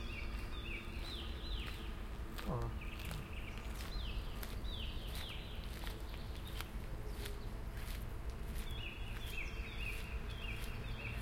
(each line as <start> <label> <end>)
0.0 Birds 11.2
0.0 Cars 11.2